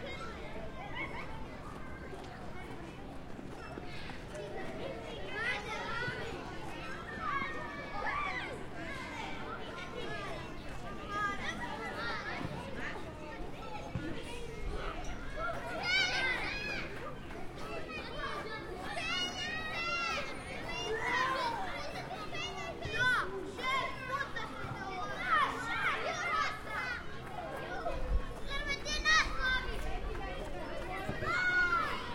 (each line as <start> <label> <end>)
0.0 CHILDREN WALLA 32.1